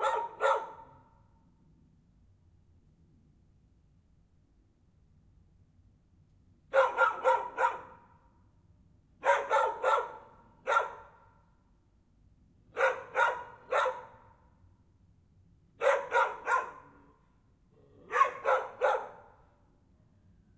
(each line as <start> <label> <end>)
0.0 dogs are barking 1.0
6.7 dogs are barking 8.0
9.2 dogs are barking 11.1
12.8 dogs are barking 14.3
15.8 dogs are barking 16.9
18.0 dogs are barking 19.4